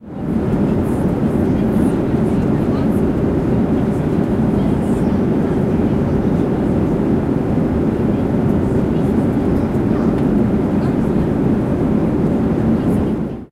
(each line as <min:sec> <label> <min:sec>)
0:00.0 airplane 0:13.5